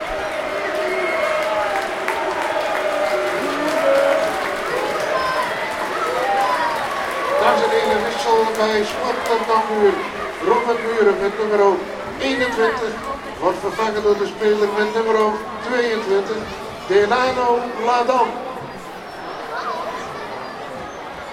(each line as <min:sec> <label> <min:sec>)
0:00.0 crowd 0:21.3